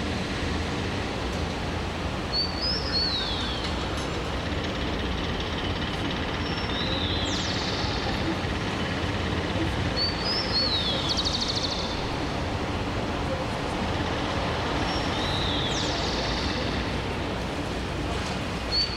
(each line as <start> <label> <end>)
0.0 cars, motorcycles and buses that cross the puddles 18.9
0.0 cold wind 18.9
2.2 birdsong 17.4
3.4 repetitive construction sound 18.7
5.7 voices almost whispered 18.2
18.6 birdsong 18.9